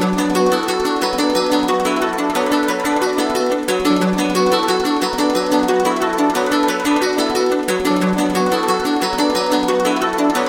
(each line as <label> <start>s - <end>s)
plucked harp 0.0s - 10.4s